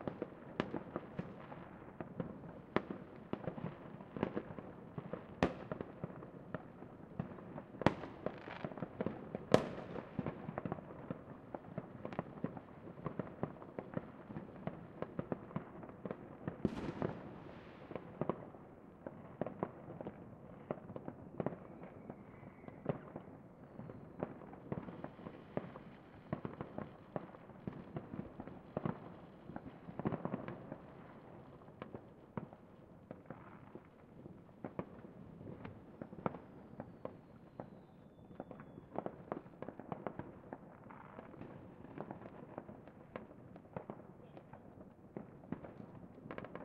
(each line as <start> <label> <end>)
0.0 fireworks 46.6